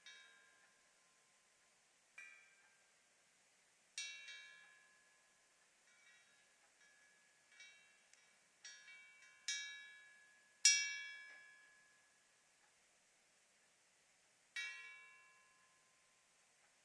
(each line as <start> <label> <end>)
0.0 metal chimes 12.6
14.5 metal chimes 16.8